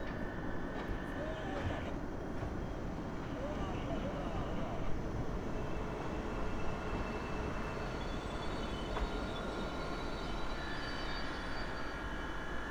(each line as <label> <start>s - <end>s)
train stops, honks the horn and pushes the carriages back 0.0s - 12.7s